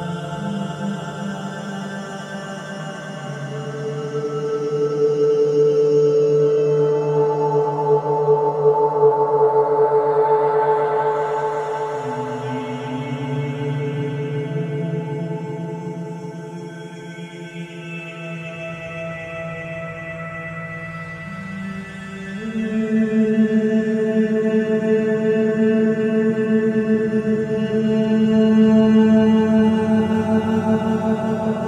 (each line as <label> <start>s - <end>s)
Improvised singing 21.3s - 31.6s